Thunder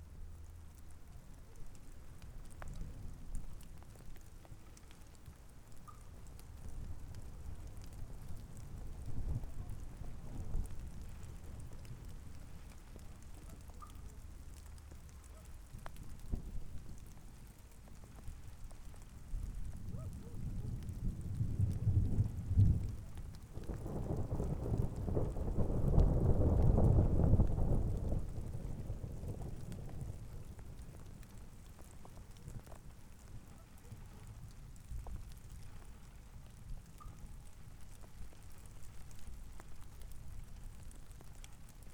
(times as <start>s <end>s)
19.8s 30.6s